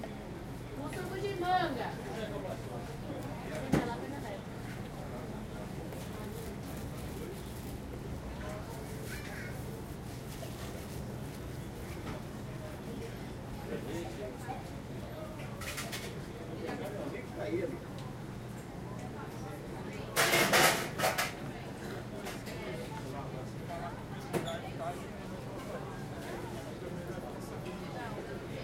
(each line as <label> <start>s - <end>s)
people 0.0s - 28.6s